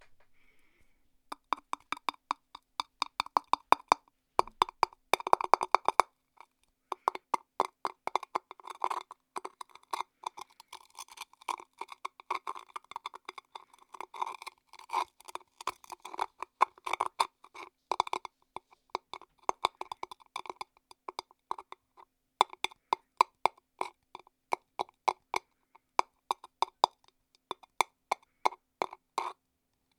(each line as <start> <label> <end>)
0.0 Scratching and tapping Hollow Ice 29.4